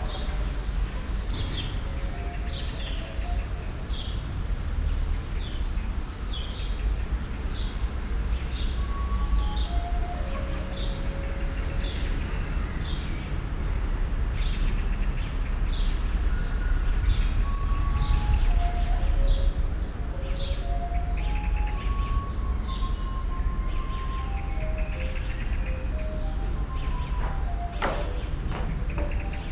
8.8s flute excercises 12.3s
17.3s flute excercises 29.5s

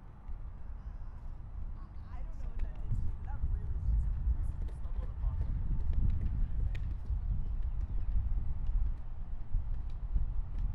0.0s Wind in the Trees 10.7s

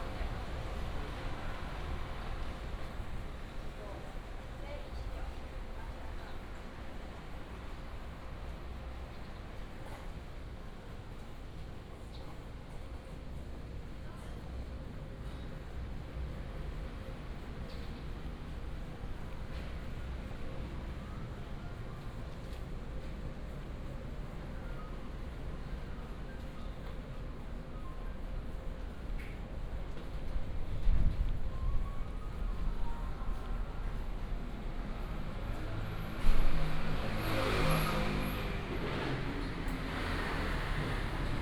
30.1s Traffic 41.4s

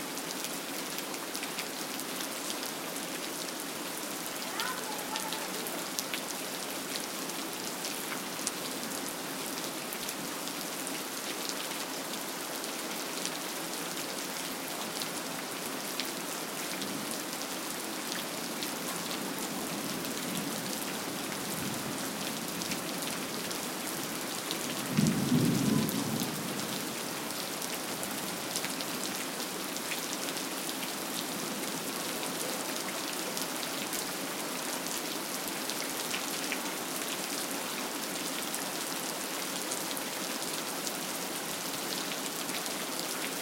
0.0s Rain 43.4s

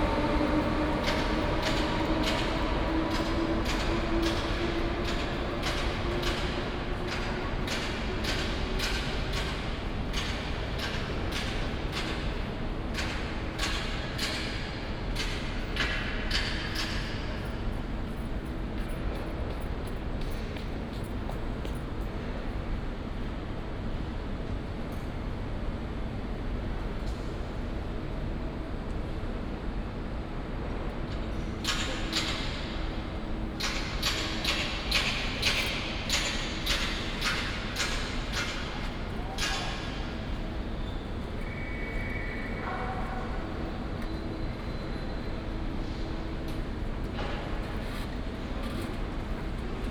31.6s Construction sound 42.5s

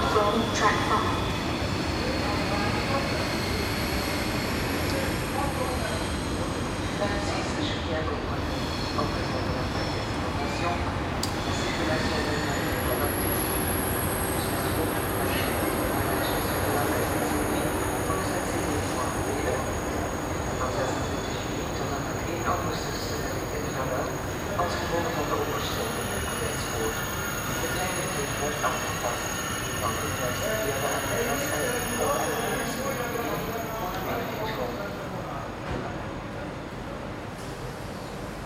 0.0s conversations on the platform 38.4s
14.3s Synthetic voices for trains announcement 35.6s

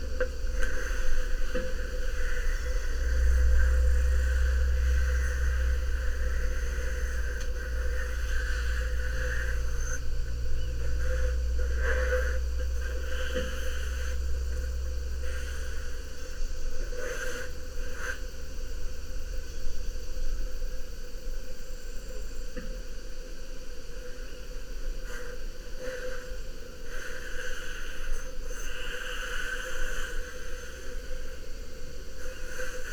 0.0s cicadas 32.9s

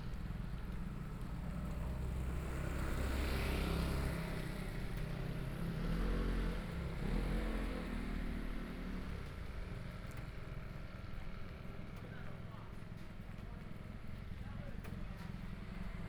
8.6s walking on the road 16.0s

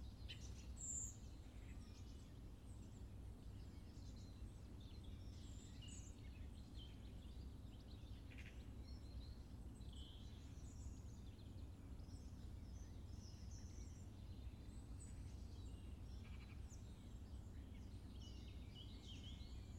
0.0s birds 19.7s

